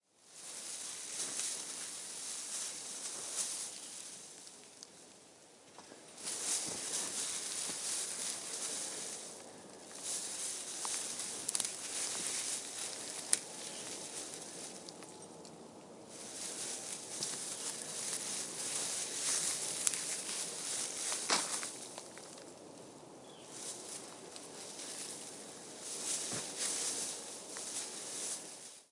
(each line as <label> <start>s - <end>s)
Pine tree branch light leaves move 0.2s - 28.9s